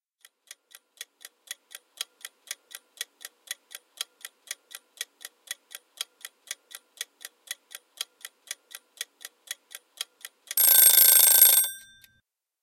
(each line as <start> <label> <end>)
10.6 ringing bell 12.1